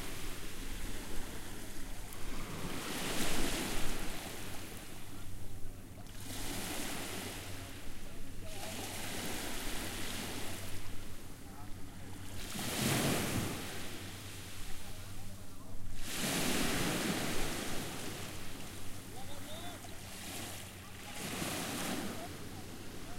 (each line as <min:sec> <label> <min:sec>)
0:00.0 boat 0:23.1
0:00.0 waves 0:23.1
0:17.3 voices 0:23.1